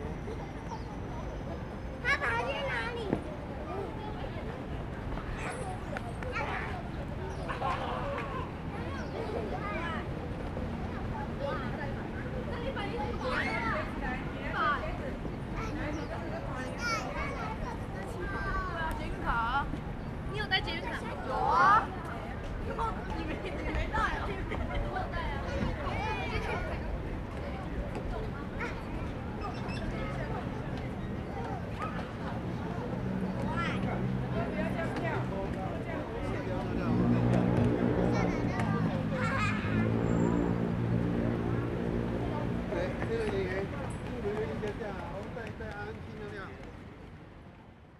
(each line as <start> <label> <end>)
12.5 Kids are playing games 42.1
41.0 Old people playing chess chat 46.6